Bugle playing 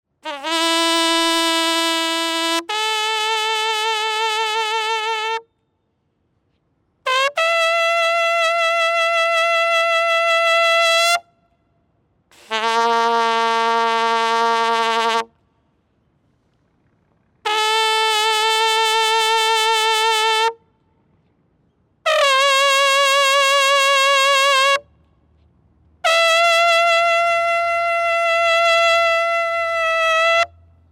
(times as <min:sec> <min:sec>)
0:00.2 0:05.4, 0:07.0 0:11.3, 0:12.3 0:15.3, 0:17.4 0:20.6, 0:22.0 0:24.9, 0:26.0 0:30.7